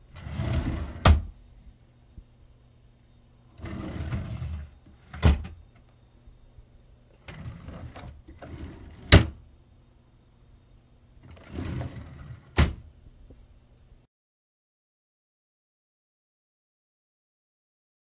opening and closing of an office desk 0.1 - 1.4
opening and closing of an office desk 3.5 - 5.6
opening and closing of an office desk 7.2 - 9.4
opening and closing of an office desk 11.2 - 12.9

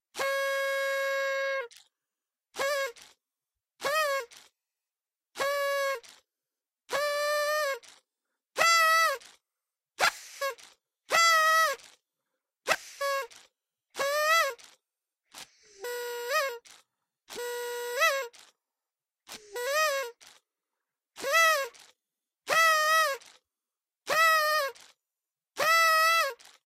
party horn 0.1 - 1.9
party horn 2.5 - 3.2
party horn 3.8 - 4.6
party horn 5.3 - 6.3
party horn 6.9 - 8.0
party horn 8.6 - 9.4
party horn 10.0 - 12.0
party horn 12.6 - 18.6
party horn 19.3 - 20.5
party horn 21.2 - 23.4
party horn 24.0 - 25.0
party horn 25.6 - 26.6

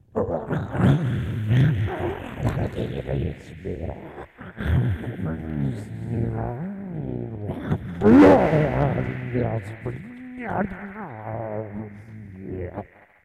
monster-like noises 0.0 - 13.2

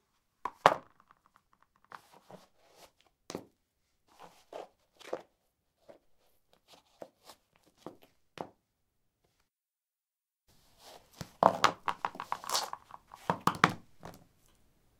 Putting high heels on/off on concrete 11.2 - 14.2

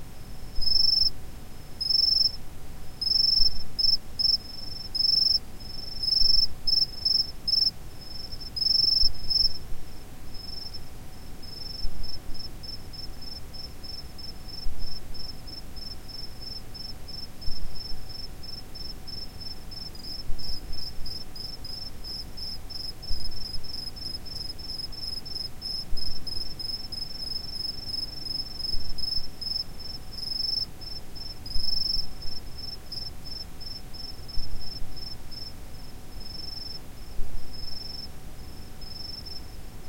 distant crickets chirping 0.6 - 1.1
distant crickets chirping 1.8 - 2.4
distant crickets chirping 3.0 - 10.8
distant crickets chirping 11.4 - 39.6

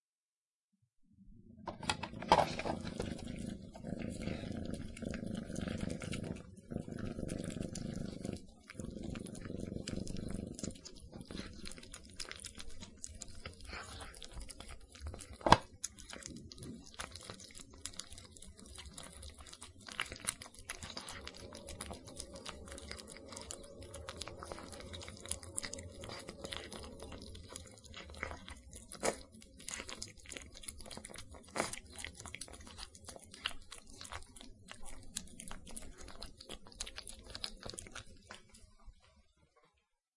hungry kittens rapidly eating mushy food 1.7 - 39.8

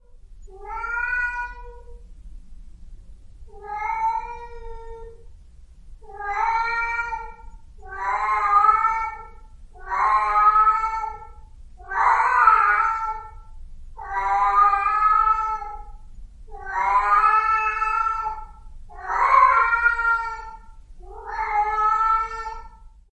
meow 0.5 - 2.0
meow 3.5 - 5.3
meow 6.0 - 23.0

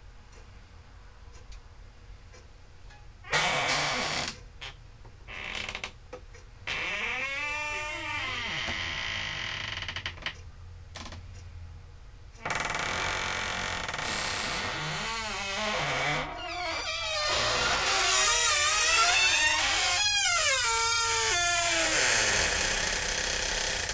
creaky wooden door 3.3 - 6.0
creaky wooden door 6.6 - 10.4
creaky wooden door 12.4 - 23.9

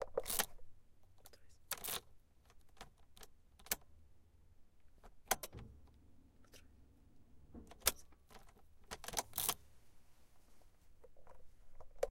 car keys entering in the whatever-called thing 7.6 - 9.6

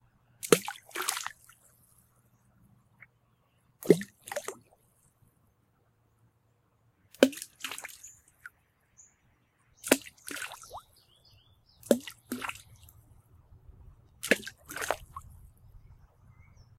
rocks being thrown into a pool of water 0.4 - 1.5
rocks being thrown into a pool of water 3.8 - 4.7
rocks being thrown into a pool of water 7.2 - 8.1
rocks being thrown into a pool of water 9.8 - 10.8
rocks being thrown into a pool of water 11.8 - 12.9
rocks being thrown into a pool of water 14.2 - 15.4

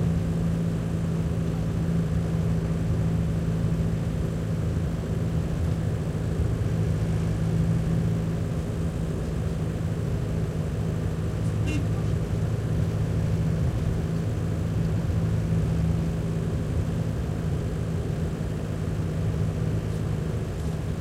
truck minibus int throaty driving real bumpy 0.0 - 21.0

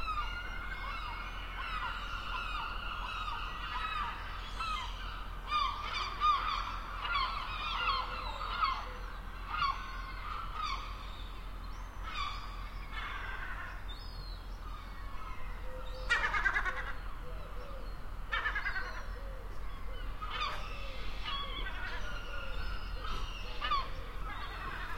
Seagulls 0.0 - 11.4
Seagulls 12.0 - 13.9
Seagulls 14.6 - 24.9

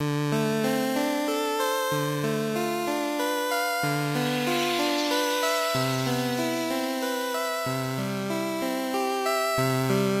chiptune arpeggio 1.9 - 8.4

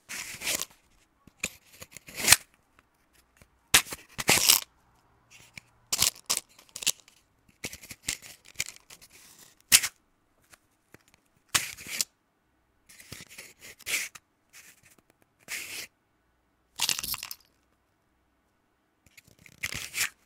Opening and closing of a small matchbox 0.1 - 4.7
Opening and closing of a small matchbox 5.3 - 12.1
Opening and closing of a small matchbox 12.9 - 15.9
Opening and closing of a small matchbox 19.1 - 20.2

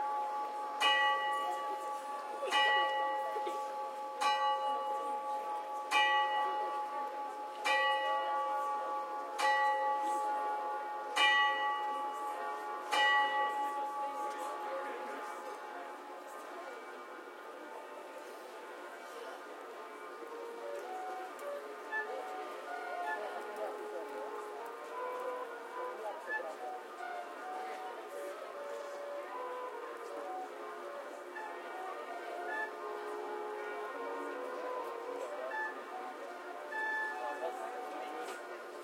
Astronomical clock 0.0 - 15.0

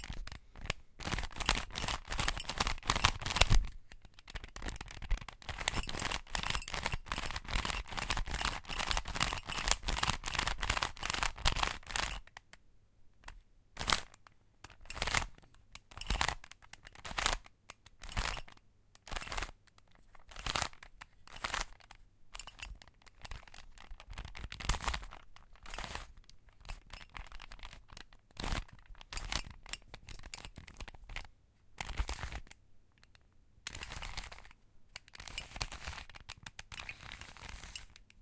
rotating the Rubik's cube sections 0.0 - 12.6
rotating the Rubik's cube sections 13.2 - 38.2

